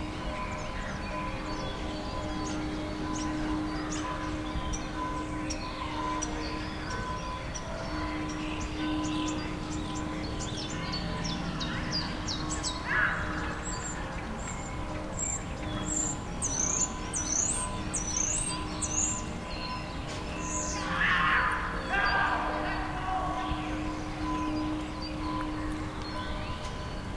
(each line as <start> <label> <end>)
0.0 bird sounds 27.1
0.0 churchbells 27.1
21.0 people chatting 24.0